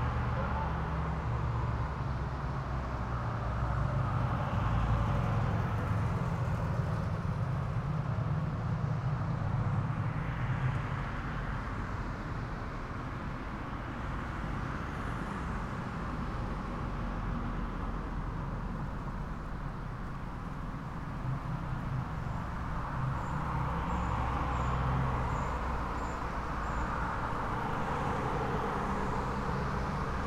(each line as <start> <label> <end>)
0.0 traffic sounds 30.2